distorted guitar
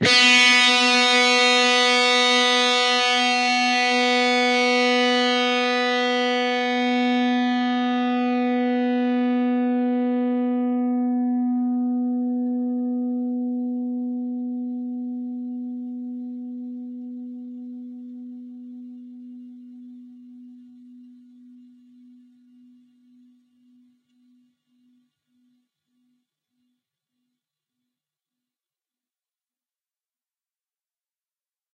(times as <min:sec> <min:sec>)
0:00.0 0:21.8